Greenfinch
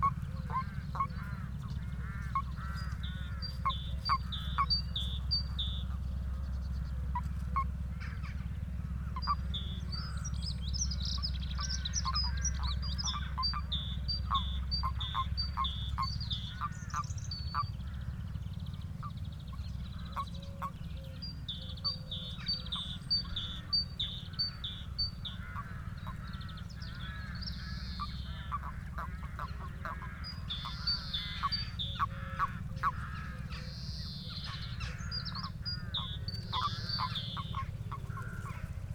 18.7 38.7

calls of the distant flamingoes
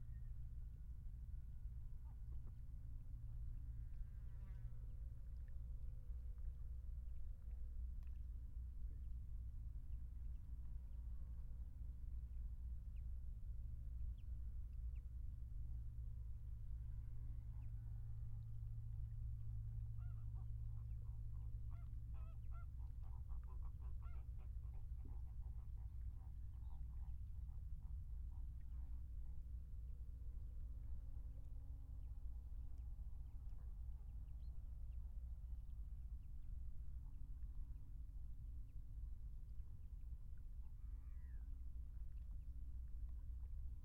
19.8 29.0

